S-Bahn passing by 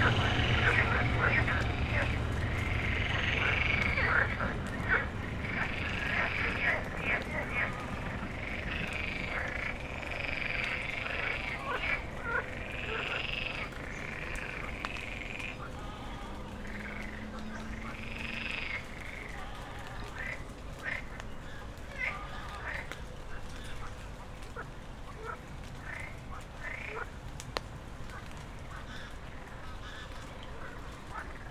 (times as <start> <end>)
0.0 24.5